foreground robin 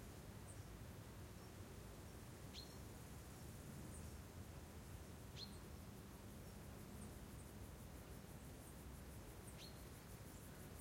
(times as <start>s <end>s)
1.4s 2.9s, 5.3s 5.7s, 9.4s 10.6s